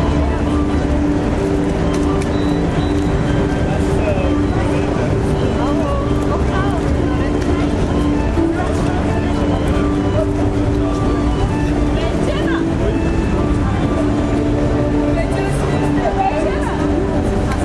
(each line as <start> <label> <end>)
0.0 street noise 17.6